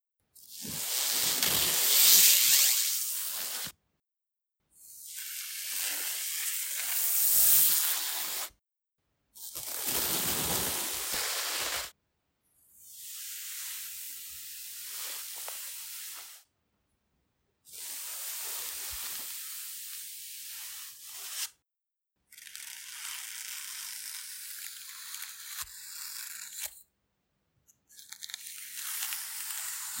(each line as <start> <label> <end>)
9.7 Feather stroked on a soft textile surface 11.9